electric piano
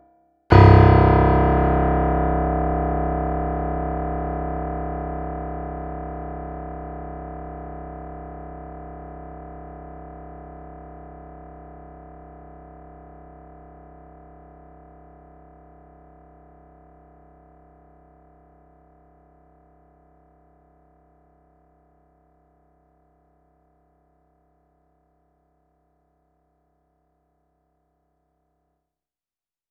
0.5 5.1

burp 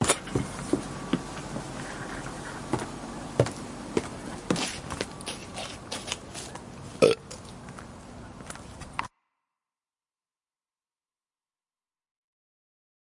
7.0 7.2

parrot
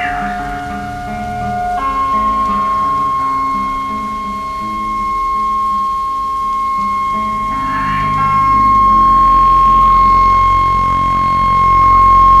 0.0 5.6

